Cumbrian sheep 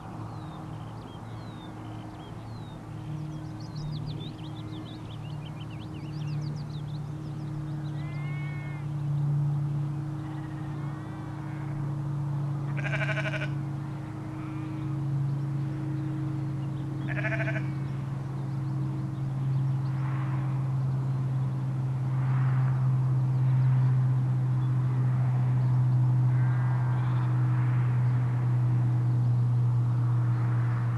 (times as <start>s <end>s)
7.8s 8.9s, 10.2s 11.8s, 12.6s 14.9s, 17.0s 17.8s